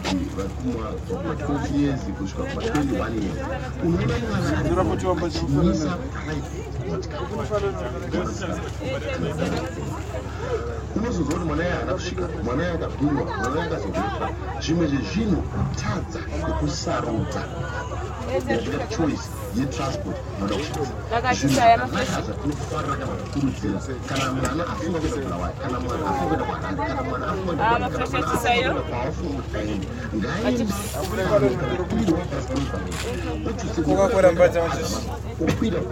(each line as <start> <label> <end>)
0.0 bus leaving Entumbane rank 35.9
0.0 passenger says a prayer 35.9